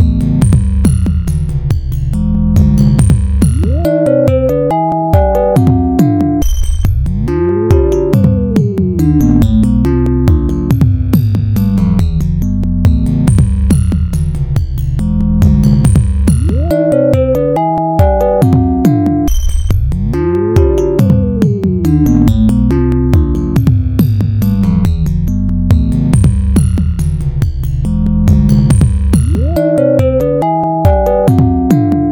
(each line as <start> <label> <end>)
2.6 Vibed 10.8
2.8 Triple Oscillator 10.2
15.2 Vibed 23.7
15.5 Triple Oscillator 23.1
28.0 Vibed 32.1
28.5 Triple Oscillator 32.1